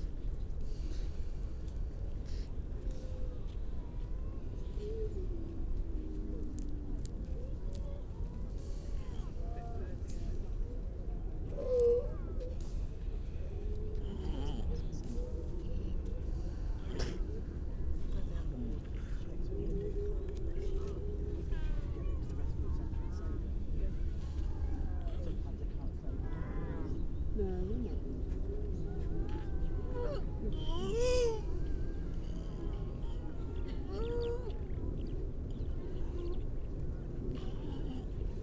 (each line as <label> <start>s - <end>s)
grey seals 11.5s - 38.4s